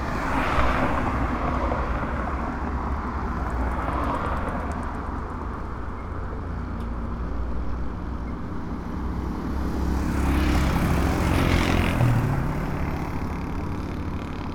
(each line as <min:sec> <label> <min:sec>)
0:00.0 Traffic 0:14.5